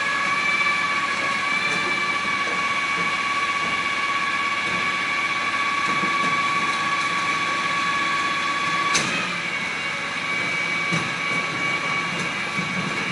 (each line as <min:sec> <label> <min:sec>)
0:00.0 rubbish collection lorry 0:13.1